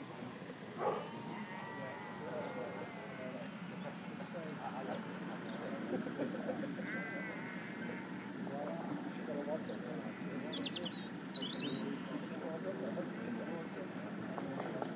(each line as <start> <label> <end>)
0.0 Birds 14.9
0.0 Chatter 14.9
0.8 Dog 1.2
0.8 Sheep 3.4
6.8 Sheep 8.2